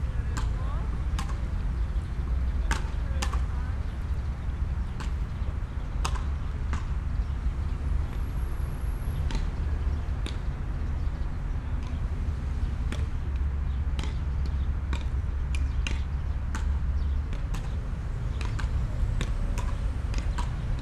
0.0s beachball players 20.8s

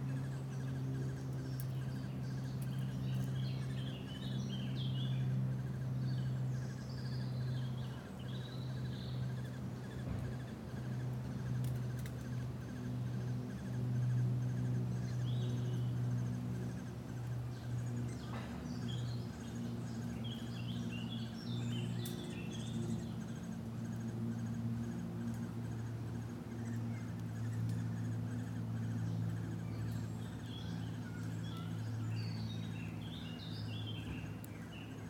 0.0s Baby woodpeckers 35.0s
0.0s birds who are all very busily chirruping away 35.0s

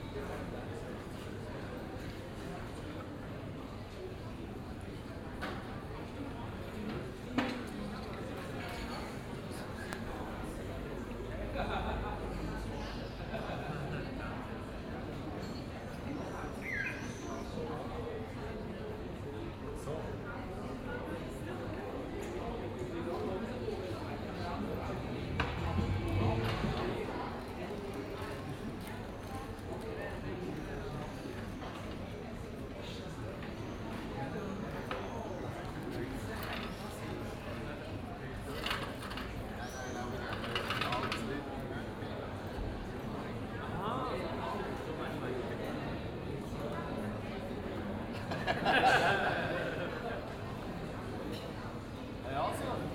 23.8s talks 27.9s

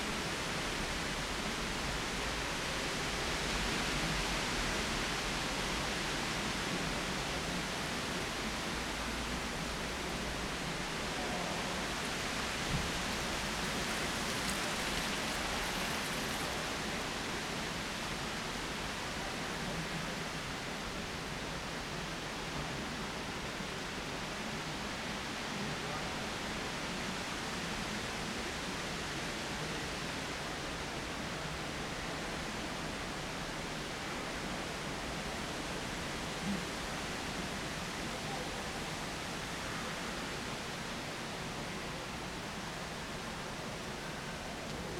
0.0s wind in the trees 44.9s

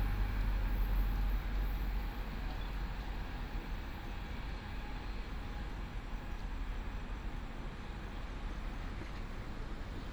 0.0s The train passes by 7.1s

